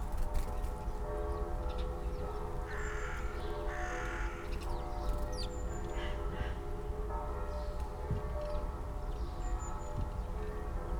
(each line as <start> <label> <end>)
0.3 churchbells 10.9